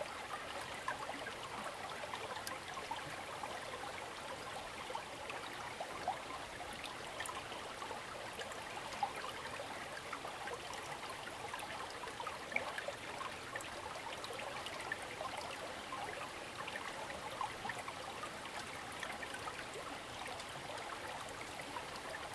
Brook 0.0 - 22.3

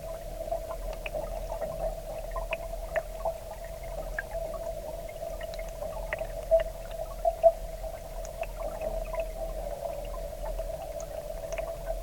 water draining back from the high tide into the sea 0.0 - 12.0

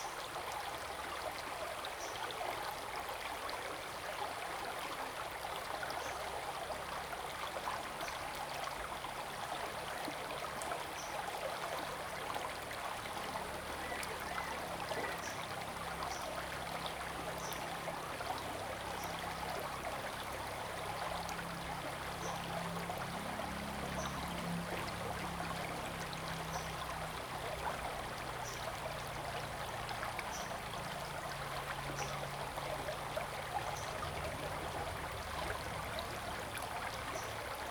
streams 0.0 - 37.7

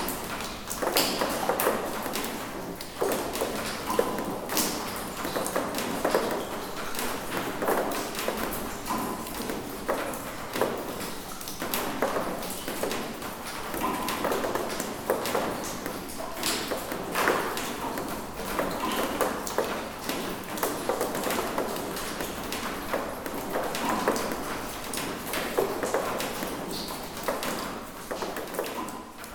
Water falling from a drift 0.0 - 29.3

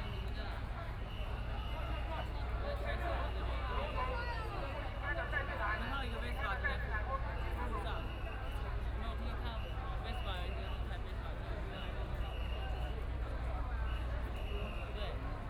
People and students occupied the Executive Yuan 0.0 - 15.4

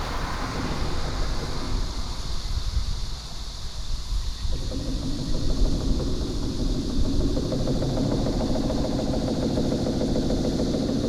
traffic sound 0.0 - 4.4
Viaduct construction 0.0 - 11.0

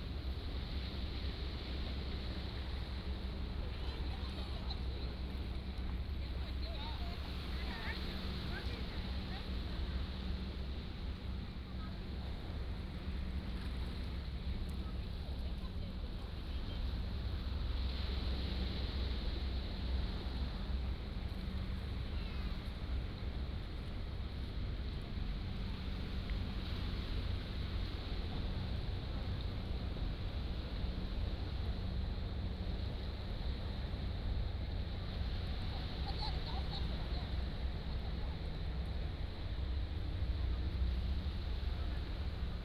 waves 0.0 - 42.6

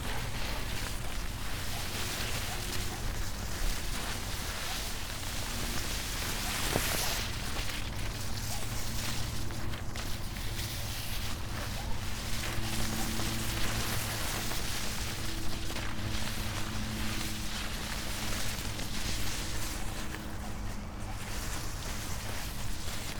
long strips of paper over high grass 0.0 - 23.1

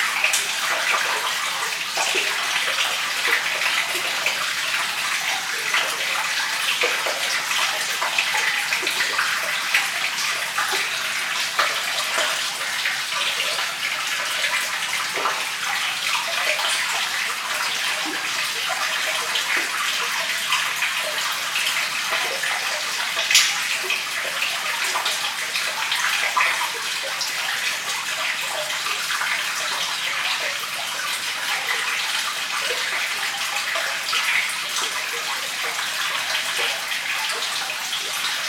Stream Culvert 0.0 - 38.4

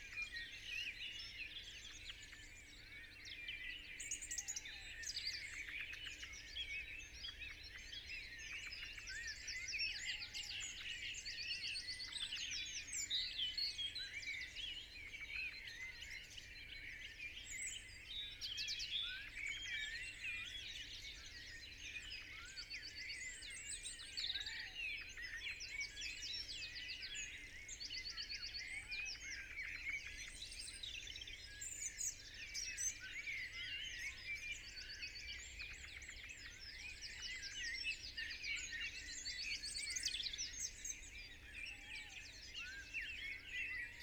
blackbird 0.0 - 44.0

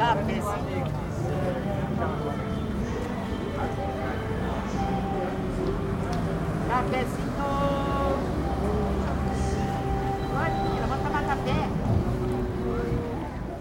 informal vendors preaching different products 6.6 - 13.0

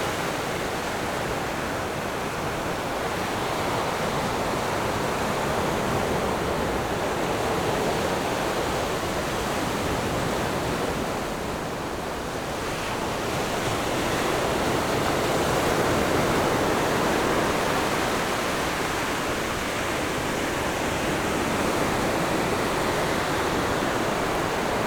waves 0.0 - 24.8

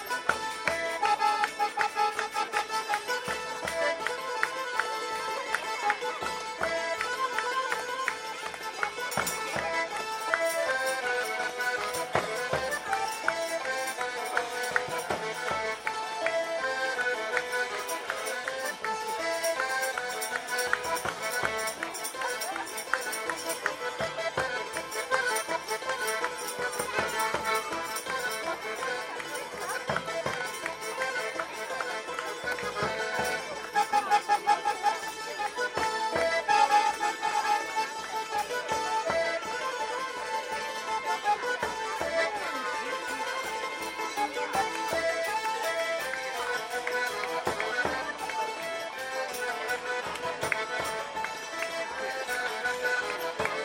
Potańcówka 0.0 - 53.6

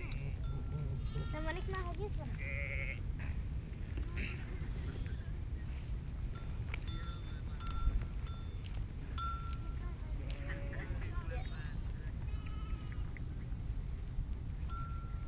sheep flock 0.0 - 3.4
sheep flock 4.0 - 5.8
sheep flock 9.2 - 13.2

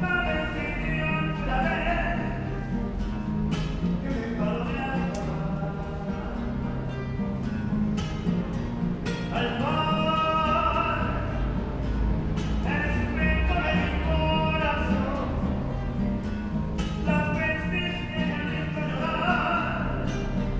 L-train station singer 0.0 - 2.8
L-train station singer 3.7 - 7.3
L-train station singer 9.2 - 11.6
L-train station singer 12.2 - 16.1
L-train station singer 17.0 - 20.4

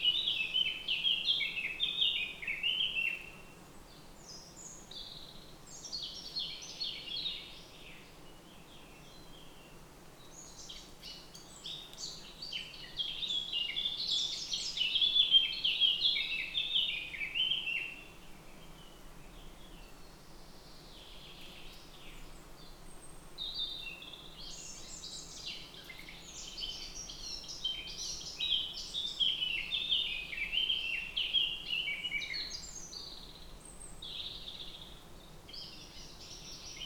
Birds in forest 0.0 - 36.8

